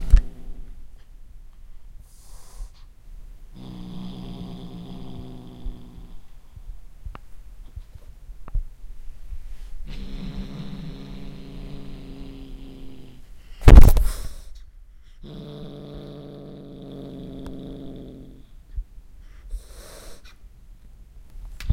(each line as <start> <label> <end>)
2.0 Kitten Hiss and Growl 2.9
3.6 Kitten Hiss and Growl 6.5
9.8 Kitten Hiss and Growl 14.6
13.6 clawing the microphone 14.3
19.4 Kitten Hiss and Growl 20.4